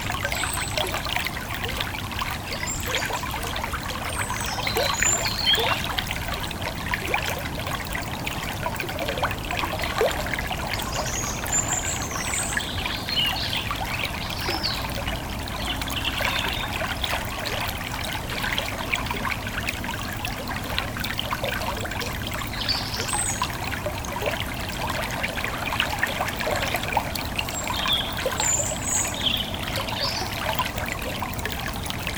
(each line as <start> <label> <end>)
0.0 Thyle river 32.1